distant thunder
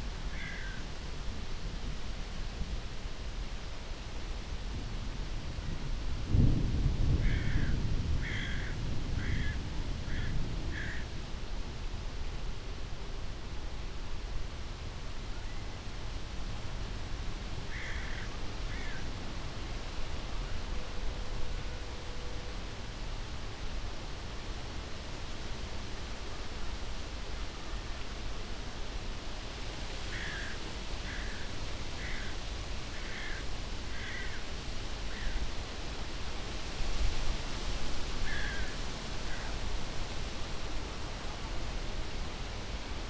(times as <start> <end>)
6.3 10.9